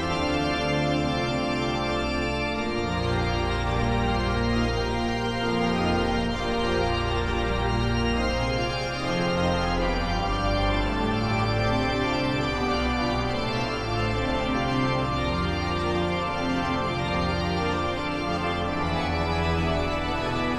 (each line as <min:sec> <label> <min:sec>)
0:00.0 organist is playing organ 0:20.5